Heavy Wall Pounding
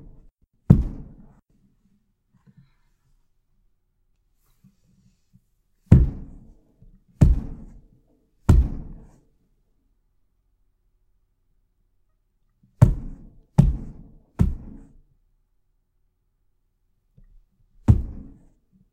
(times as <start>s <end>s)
0.0s 1.4s, 5.9s 6.4s, 7.2s 7.8s, 8.5s 9.1s, 12.8s 14.9s, 17.8s 18.4s